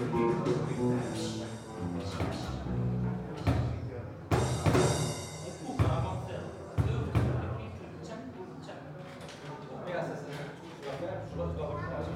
Music 0:00.0 - 0:07.8
Music 0:11.3 - 0:12.1

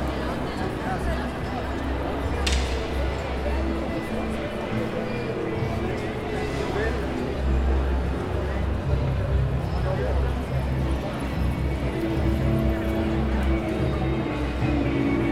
Persone in piazza 0:00.0 - 0:15.3

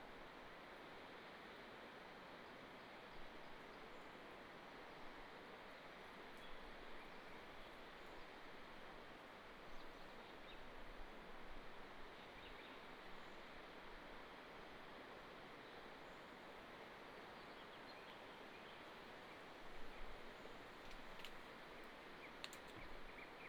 Birdsong across the valley 0:03.1 - 0:10.9
Birdsong across the valley 0:12.1 - 0:13.6
Birdsong across the valley 0:15.6 - 0:23.4

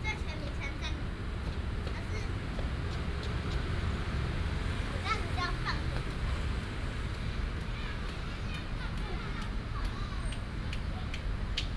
traffic sound 0:00.0 - 0:11.7

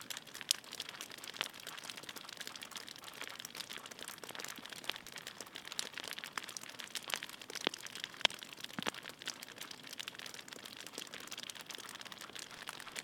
Drips of water from icicles 0:00.0 - 0:13.0

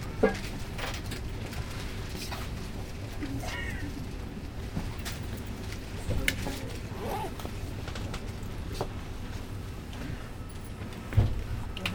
train to Zandvoort 0:00.0 - 0:11.9

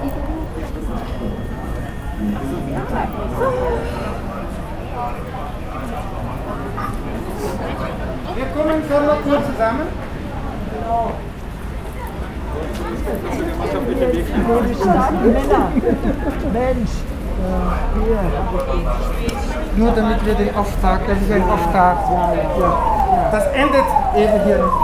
spontanes Live-Interview 0:14.3 - 0:24.8
Feuerwehr einmarschierte 0:19.7 - 0:24.8

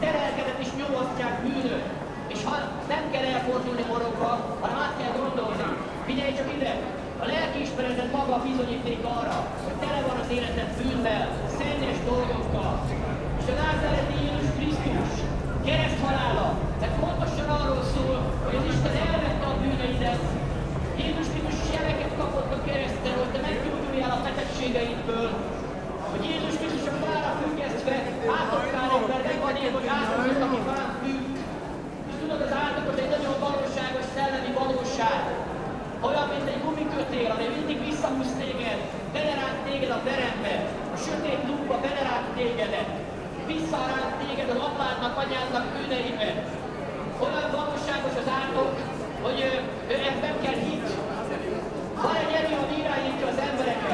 speakers' corner 0:00.0 - 0:53.9

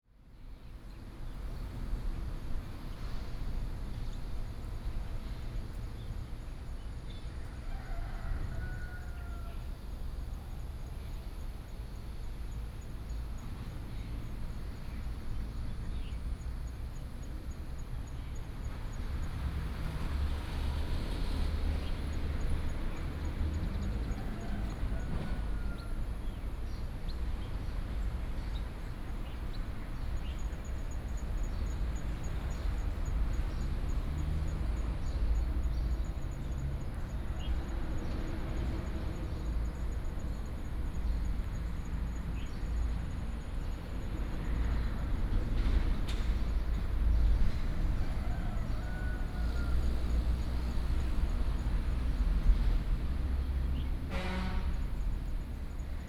Traveling by train 0:00.0 - 0:56.0
Traffic Sound 0:00.1 - 0:56.0

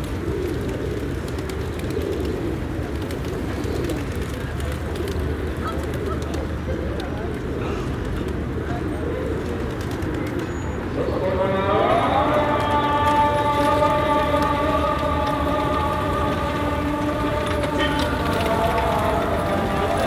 Pigeons 0:00.0 - 0:20.0
Adhan 0:10.9 - 0:20.0

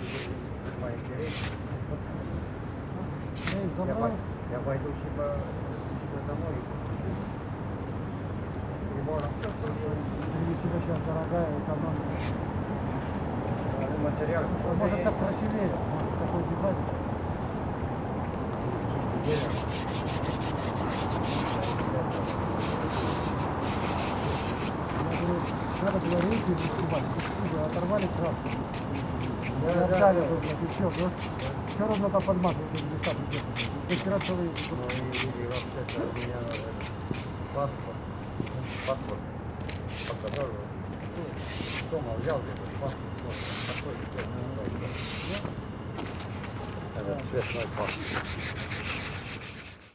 cleaning the wooden park benches with sandpaper 0:00.0 - 0:00.4
cleaning the wooden park benches with sandpaper 0:01.2 - 0:01.6
cleaning the wooden park benches with sandpaper 0:03.4 - 0:03.7
cleaning the wooden park benches with sandpaper 0:12.1 - 0:12.4
cleaning the wooden park benches with sandpaper 0:19.1 - 0:37.4
cleaning the wooden park benches with sandpaper 0:38.6 - 0:39.1
cleaning the wooden park benches with sandpaper 0:39.9 - 0:40.4
cleaning the wooden park benches with sandpaper 0:41.3 - 0:42.0
cleaning the wooden park benches with sandpaper 0:43.2 - 0:44.0
cleaning the wooden park benches with sandpaper 0:44.8 - 0:45.5
cleaning the wooden park benches with sandpaper 0:47.3 - 0:49.9

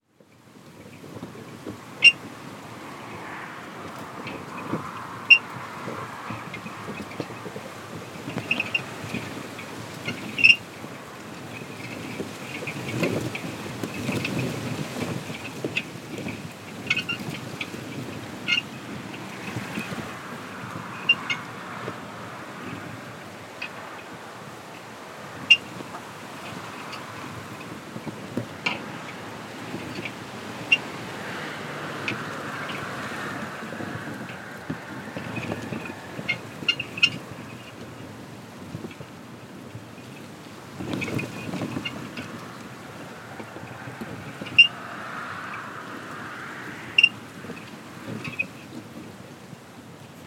wind in the vegetation 0:00.0 - 0:50.2

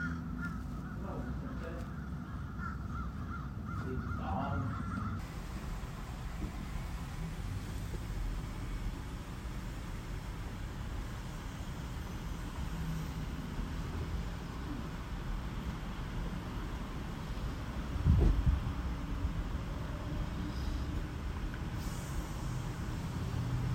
crows 0:00.0 - 0:05.2

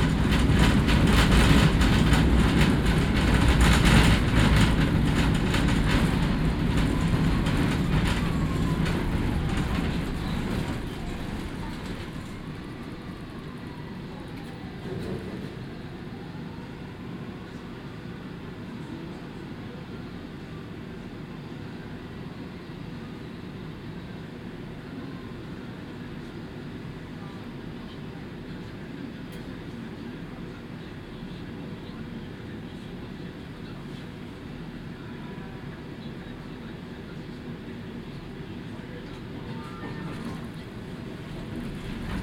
Old model tram, lot of vibrating sounds 0:00.0 - 0:42.2

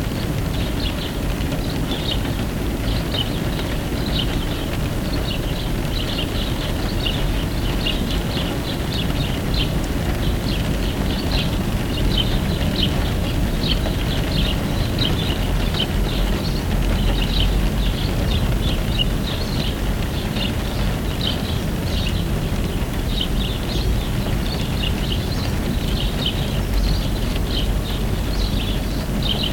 BIRD SINGING 0:00.6 - 0:29.5

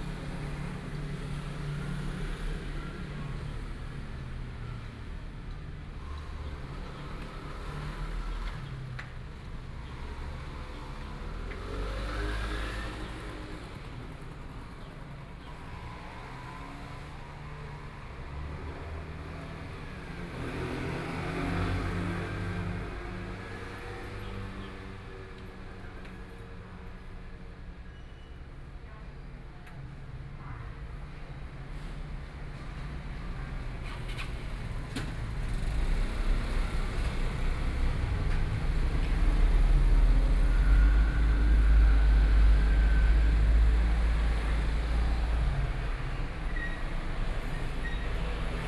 traffic 0:00.0 - 0:48.6

